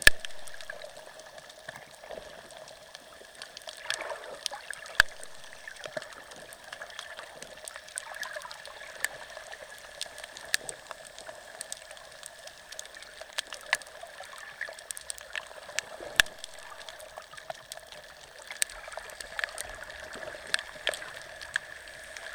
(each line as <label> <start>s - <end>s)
little fish 0.0s - 22.3s